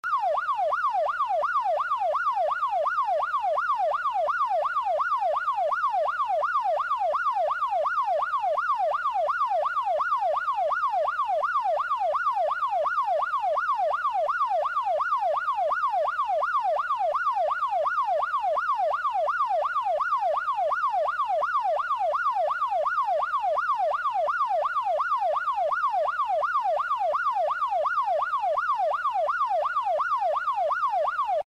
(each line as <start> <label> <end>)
0.0 siren sound 31.4